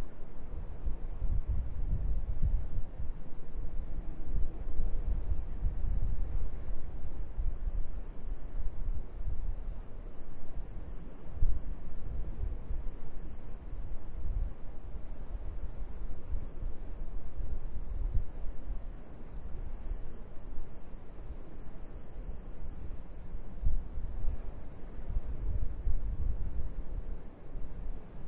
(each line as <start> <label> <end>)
0.0 wind 28.2